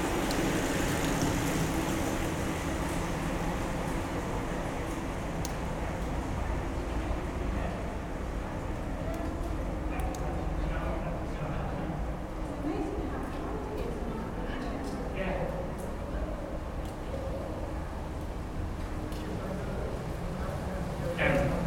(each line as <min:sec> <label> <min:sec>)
0:00.0 cyclists on Bristol to Bath trail riding through an old rail tunnel 0:21.6